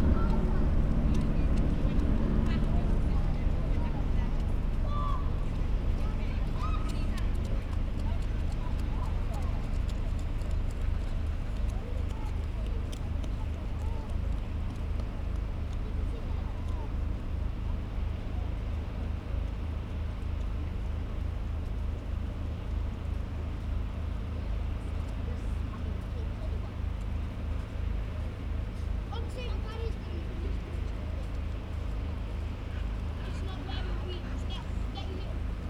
incoming tide 0.0 - 11.2
coast guard helicopter whirrs by 0.0 - 35.6
school party wander across the beach 0.0 - 35.6

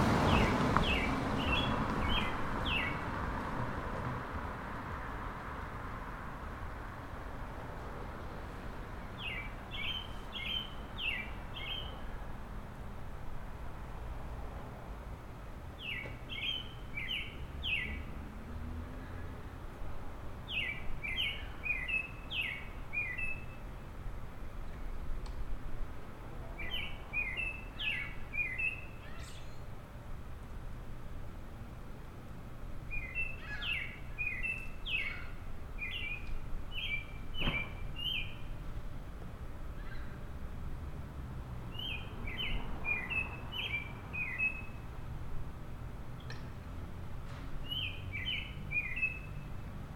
Robin singing 0.3 - 3.0
Robin singing 9.1 - 12.1
Robin singing 15.8 - 18.1
Robin singing 20.5 - 23.8
Robin singing 26.6 - 29.7
Robin singing 32.9 - 38.6
Robin singing 41.7 - 44.8
Robin singing 47.6 - 49.6

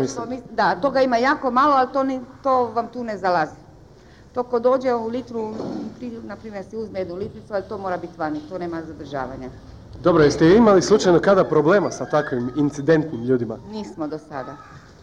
interviews in the streets 0.0 - 14.7

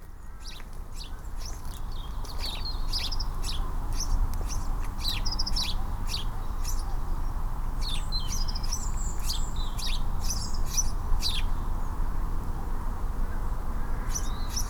Sparrows 0.0 - 11.9
Sparrows 13.3 - 14.6

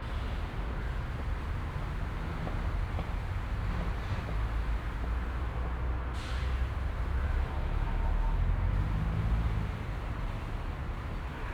traffic and city noise 0.0 - 11.5

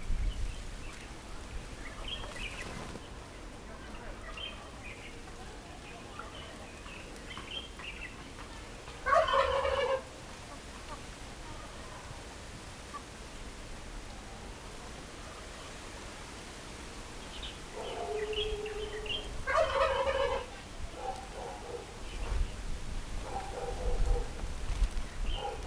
Birds singing 0.2 - 9.6
Chicken sounds 3.9 - 12.1
Turkey calls 6.0 - 11.8
Birds singing 17.2 - 22.7
Chicken sounds 17.4 - 22.6
Turkey calls 17.4 - 22.5
Birds singing 25.0 - 25.6

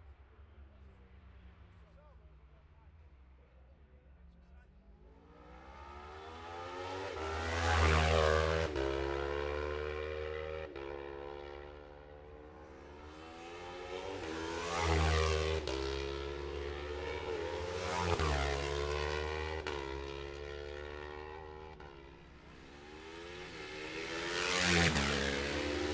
road racing 4.9 - 25.9

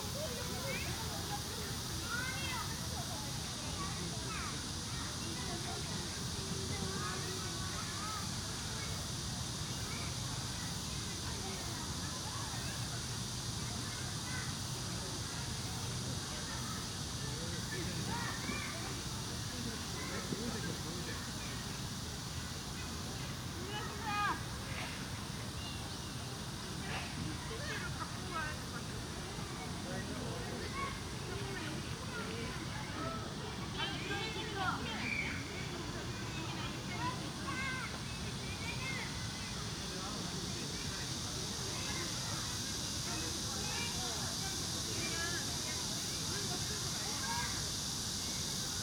cicada 0.0 - 48.8
childrens playing traditional games 10.8 - 48.8

